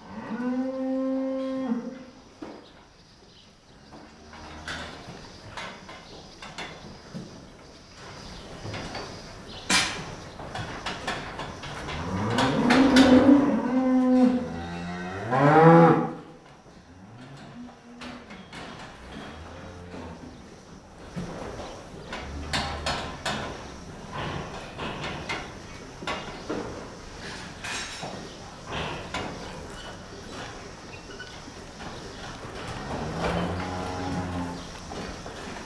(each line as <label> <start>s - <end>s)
Cows mooing 0.0s - 2.1s
Cows mooing 11.8s - 16.3s
Cows mooing 32.6s - 34.9s